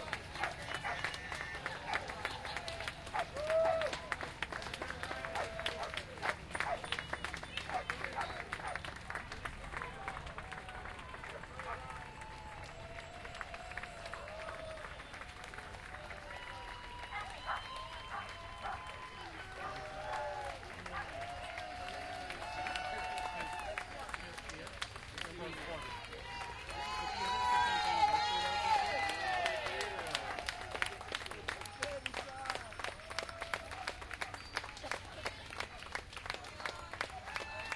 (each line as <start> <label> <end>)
0.0 crowd applauding 37.7
0.0 crowd cheer 37.7
0.4 dog barking 1.0
6.6 dog barking 6.9
12.3 cowbells 14.6
34.0 cowbells 37.3